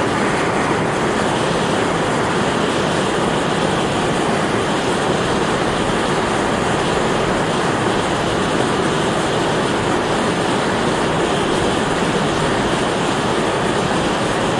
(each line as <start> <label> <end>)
0.0 vapour, fumes, sulphur, erupting loudly from underground 14.5